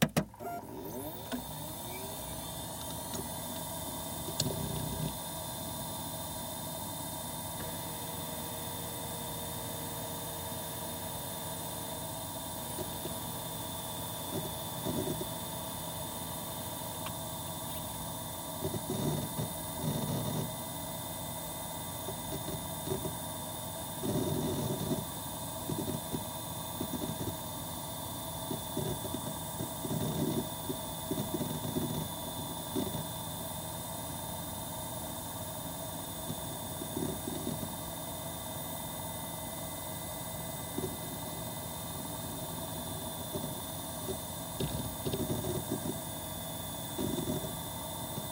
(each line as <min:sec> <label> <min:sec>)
0:00.0 hard drives 0:05.2
0:12.6 hard drives 0:20.6
0:21.9 hard drives 0:23.3
0:24.0 hard drives 0:27.6
0:28.3 hard drives 0:33.2
0:36.2 hard drives 0:38.0
0:39.0 hard drives 0:48.3